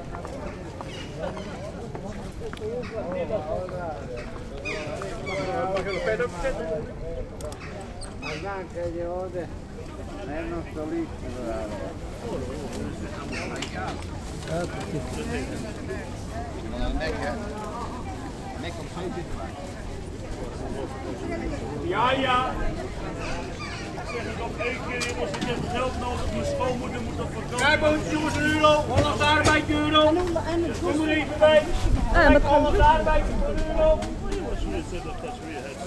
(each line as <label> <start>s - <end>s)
business calls of the fruit and fish sellers 0.0s - 35.8s